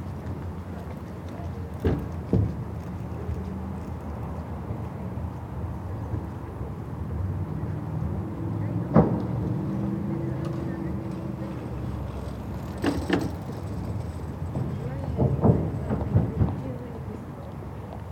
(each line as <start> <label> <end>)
0.0 bikes and walkers sounding the bridge 18.1
0.0 different bicycles, shoes and voices 18.1
0.0 rumble of traffic from the ring road 18.1